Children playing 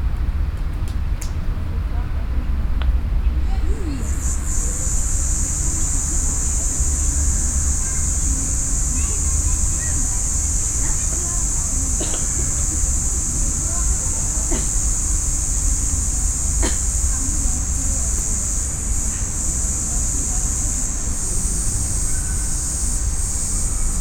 0:03.4 0:15.0

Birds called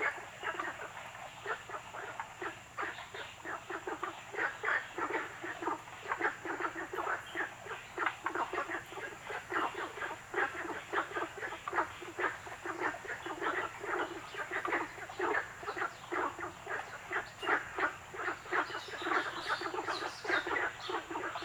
0:04.5 0:21.4

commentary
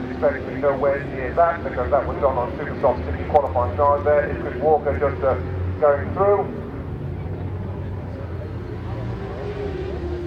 0:00.0 0:06.7

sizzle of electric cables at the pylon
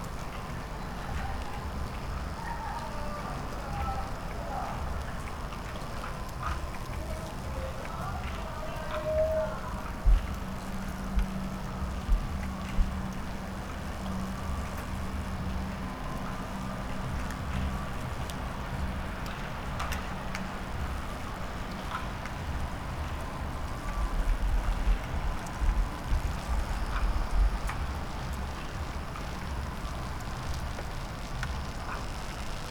0:10.2 0:32.7

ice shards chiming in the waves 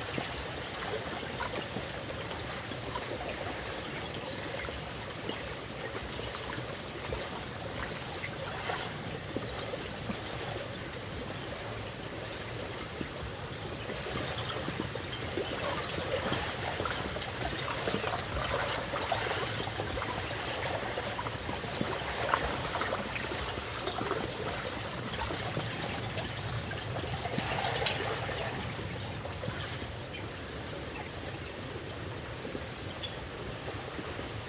0:23.5 0:30.0

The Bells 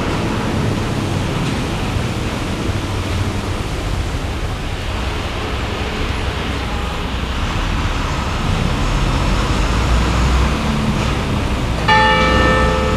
0:11.8 0:12.9

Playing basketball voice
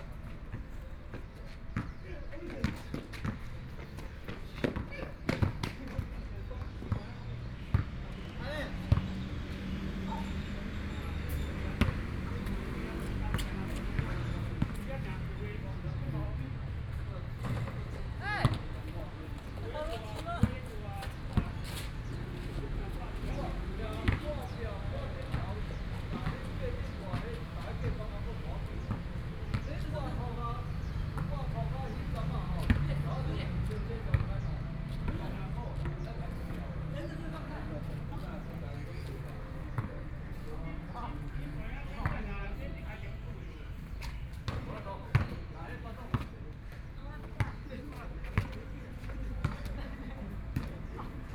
0:01.8 0:08.1, 0:10.9 0:16.0, 0:17.4 0:33.1, 0:33.7 0:34.4, 0:37.8 0:40.6, 0:44.1 0:45.5

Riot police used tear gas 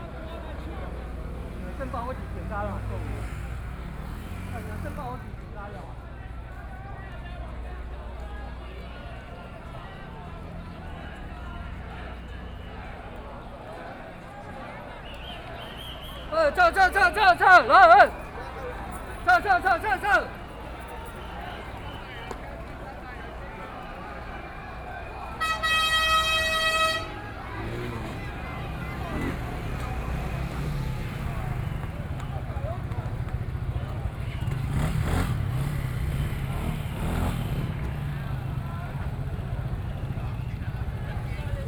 0:10.0 0:41.6

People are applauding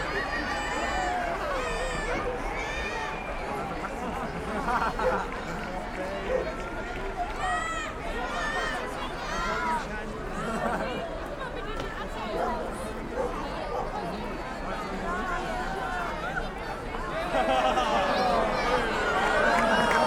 0:17.5 0:20.0

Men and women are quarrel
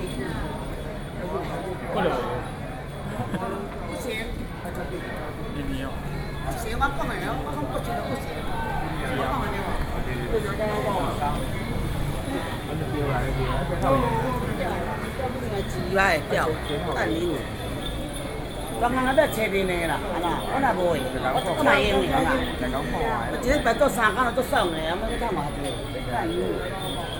0:04.7 0:17.6

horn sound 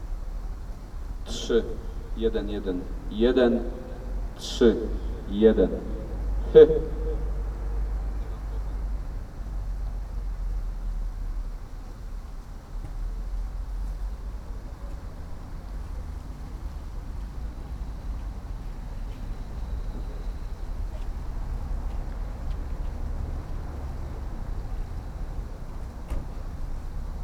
0:01.3 0:08.2

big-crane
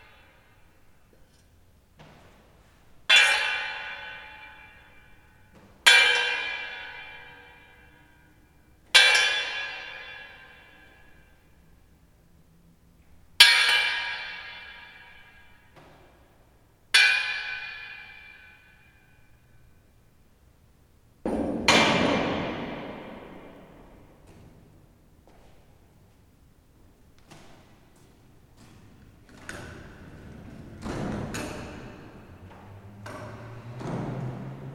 0:28.5 0:34.7

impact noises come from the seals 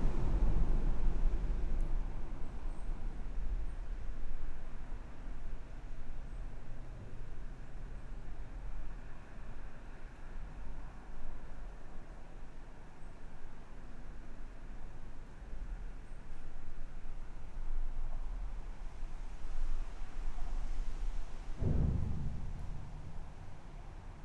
0:21.6 0:24.2

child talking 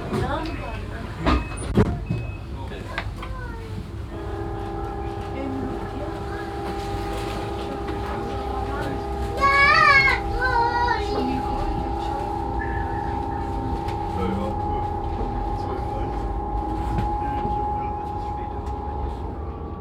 0:09.4 0:11.7

